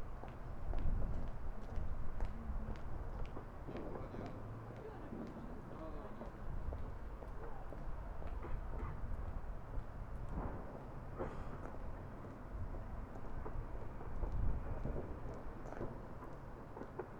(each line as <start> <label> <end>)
0.0 subtle wind 17.1
0.1 distant fireworks blasts echoing in the freezing air 17.1